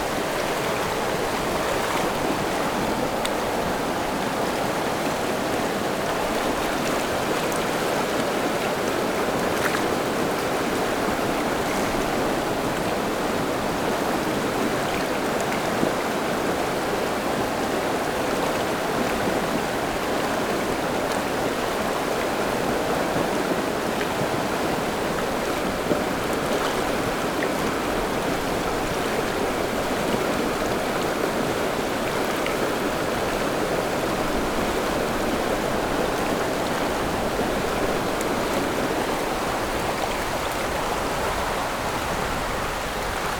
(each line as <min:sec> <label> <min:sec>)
0:00.0 Stream after Typhoon 0:43.3